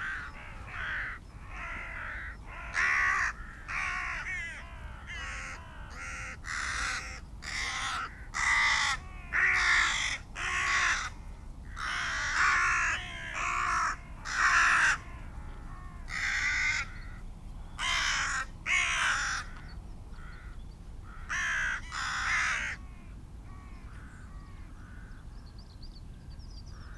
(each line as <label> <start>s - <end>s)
gathering of rooks and crows 0.0s - 25.4s